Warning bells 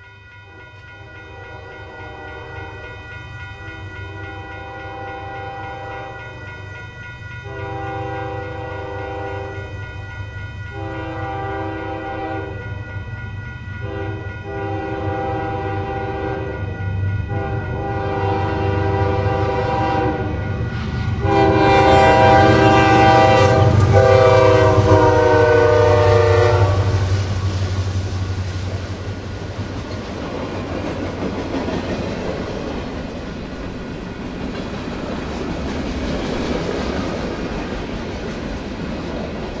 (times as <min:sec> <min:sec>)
0:00.0 0:26.8